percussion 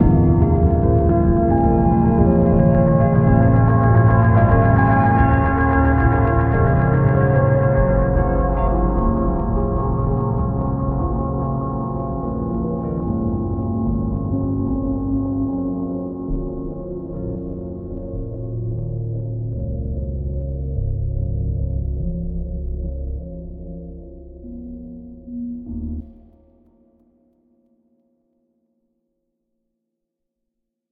0.0s 20.2s

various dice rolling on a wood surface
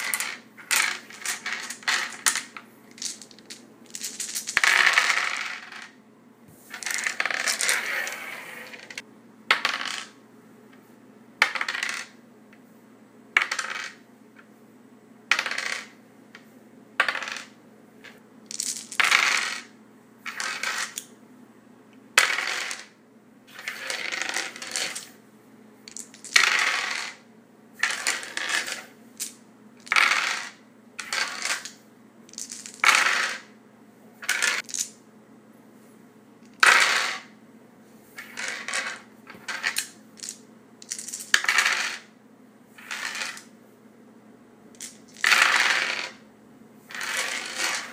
0.0s 6.0s, 6.7s 10.2s, 11.4s 12.2s, 13.4s 14.5s, 15.3s 21.1s, 22.2s 25.2s, 25.9s 27.2s, 27.8s 33.6s, 34.2s 35.0s, 36.4s 37.3s, 38.2s 42.1s, 42.8s 43.5s, 44.8s 46.2s, 46.9s 47.9s

